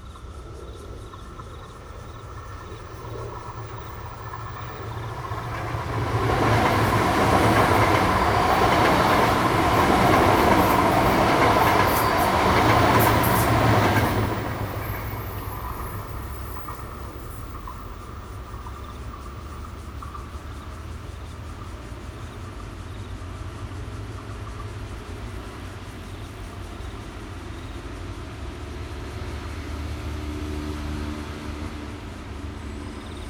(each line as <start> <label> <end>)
0.0 Traffic Sound 22.6
0.0 Insect sounds 33.2
0.0 MRT trains through 33.2